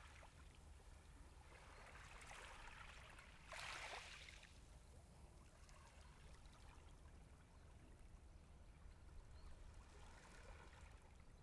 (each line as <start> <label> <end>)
0.0 Calm waves 11.4